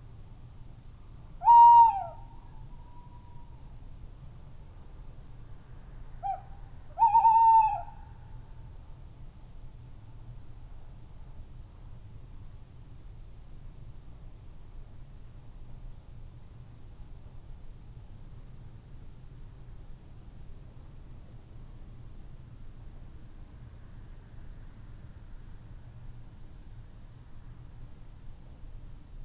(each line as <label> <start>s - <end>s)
tawny owls 1.4s - 2.3s
tawny owls 7.0s - 8.0s